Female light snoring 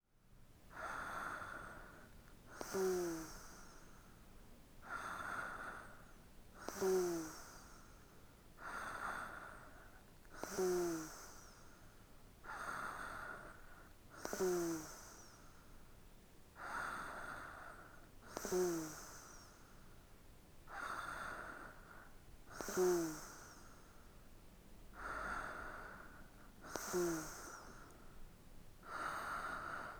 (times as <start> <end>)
2.5 4.0, 6.6 8.0, 10.3 11.7, 12.5 15.5, 16.6 19.6, 22.5 23.9, 25.0 28.0